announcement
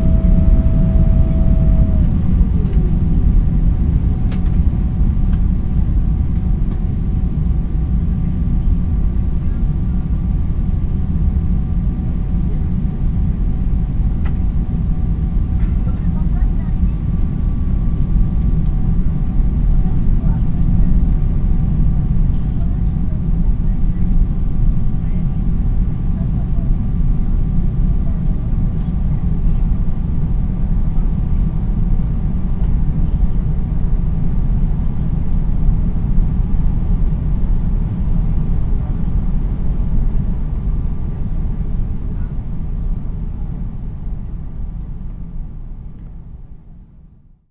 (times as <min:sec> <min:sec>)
0:00.0 0:03.2